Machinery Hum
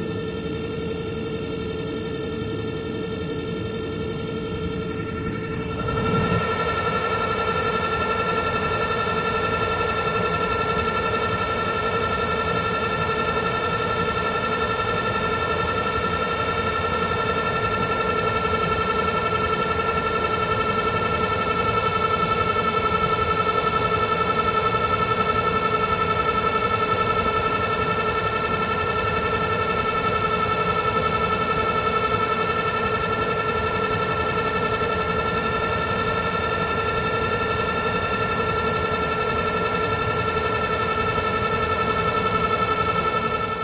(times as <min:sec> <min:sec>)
0:00.0 0:11.2